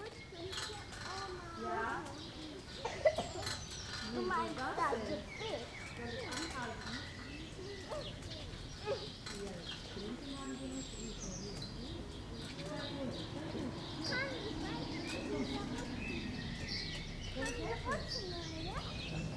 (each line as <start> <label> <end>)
0.0 children playing 19.3